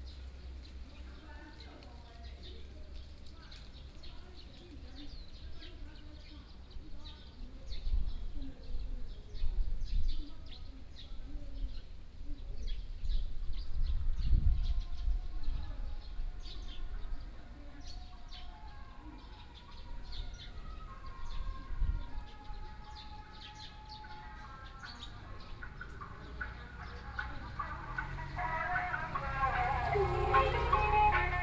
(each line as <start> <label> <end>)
22.4 Driving a small truck selling produce 31.4
23.2 Traffic Sound 31.4